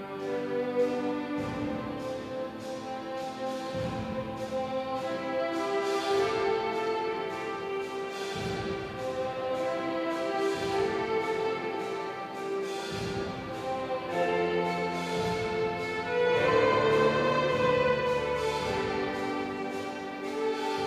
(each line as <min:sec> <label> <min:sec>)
0:00.0 traditional maltese song 0:20.8